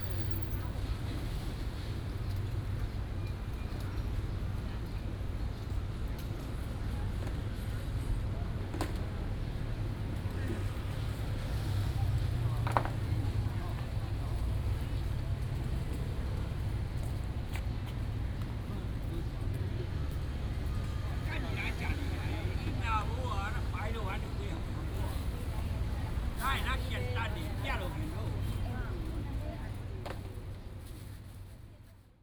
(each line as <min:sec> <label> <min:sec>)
0:19.7 Vendors 0:28.3